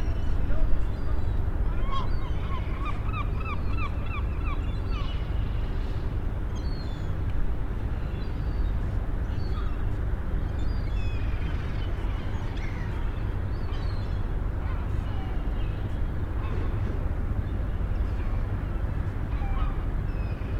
Seagulls 0:19.3 - 0:20.4

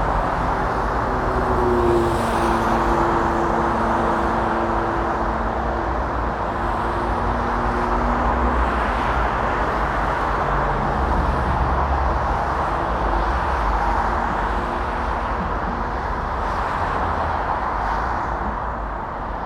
motorway traffic 0:00.0 - 0:19.4

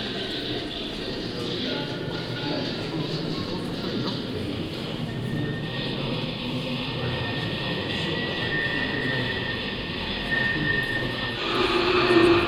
sound art students performing a staircase music 0:08.8 - 0:12.4

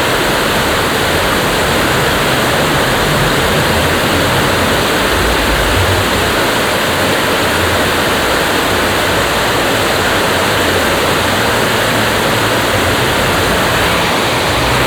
traffic on the main road 0:00.0 - 0:14.8
water crossing the dam 0:00.0 - 0:14.8

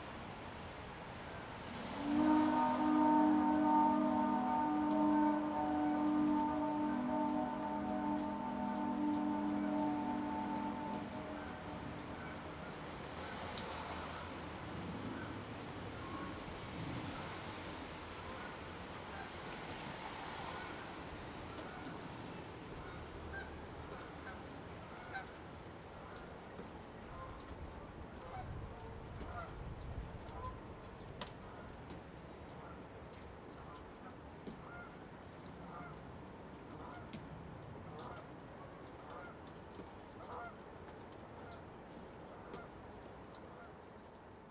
Canada geese flying overhead 0:01.3 - 0:29.6
Canada geese flying overhead 0:30.2 - 0:30.8
Canada geese flying overhead 0:33.5 - 0:37.3
Canada geese flying overhead 0:37.9 - 0:44.2

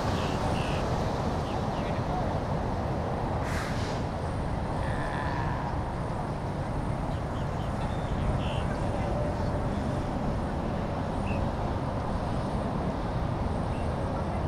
trucks 0:00.0 - 0:14.4
birds 0:07.0 - 0:09.6

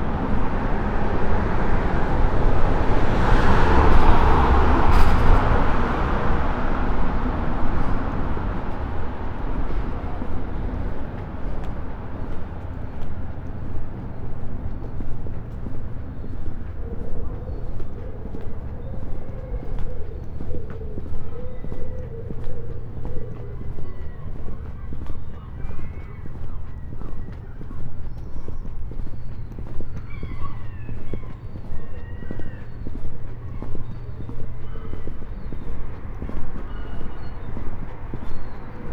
voices 0:00.0 - 0:38.9
gulls 0:16.8 - 0:38.9

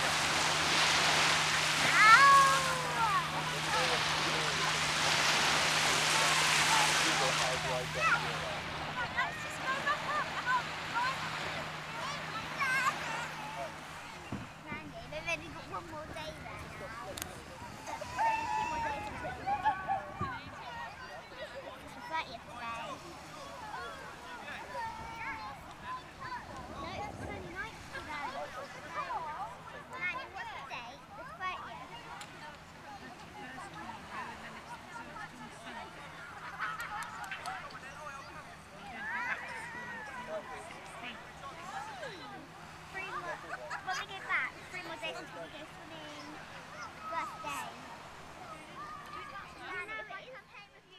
Local lads 0:00.0 - 0:22.0

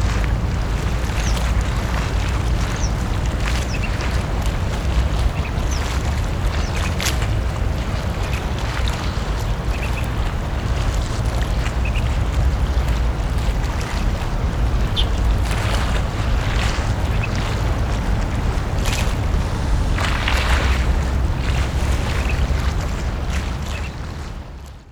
wave 0:00.0 - 0:24.8

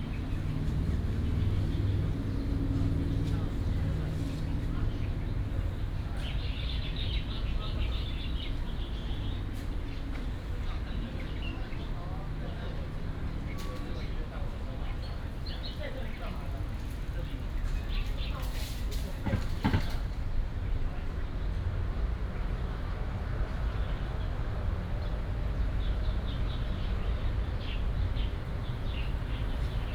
Traffic Sound 0:22.9 - 0:29.9

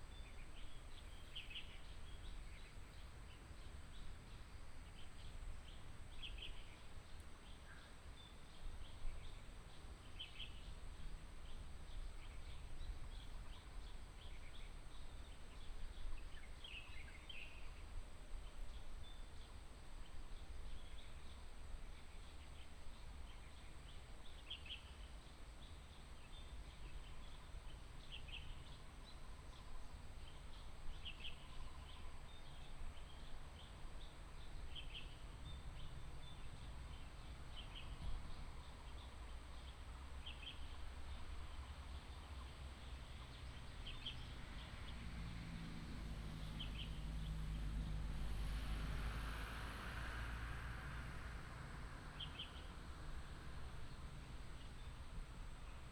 Traffic sound 0:24.9 - 0:55.9

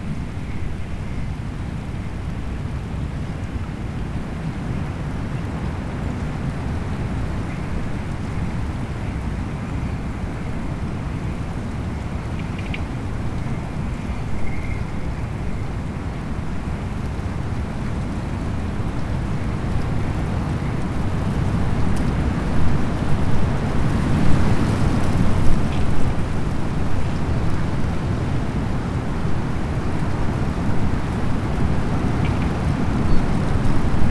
strong wind blows small pieces of ice over the ice 0:00.1 - 0:34.1

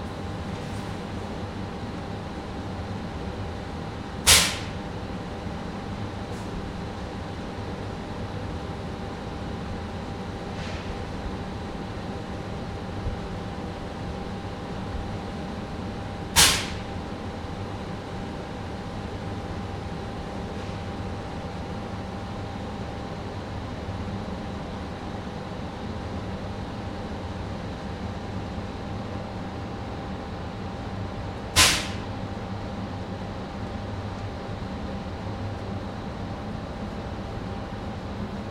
steam releasing factory 0:04.2 - 0:05.2
steam releasing factory 0:06.2 - 0:06.8
steam releasing factory 0:10.4 - 0:11.4
steam releasing factory 0:16.2 - 0:17.1
steam releasing factory 0:31.4 - 0:32.3

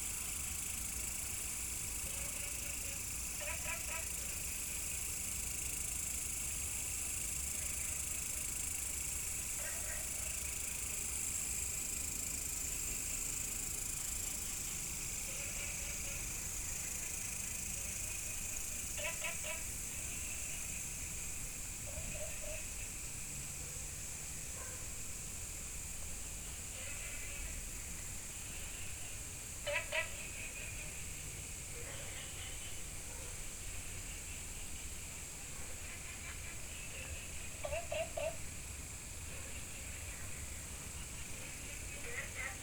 Insect sounds 0:00.0 - 0:42.6
Frog calls 0:02.2 - 0:06.6
Frog calls 0:15.2 - 0:20.8
Frog calls 0:21.8 - 0:22.9
Frog calls 0:26.7 - 0:27.6
Frog calls 0:28.5 - 0:31.2
Frog calls 0:35.8 - 0:38.6
Frog calls 0:39.6 - 0:42.6

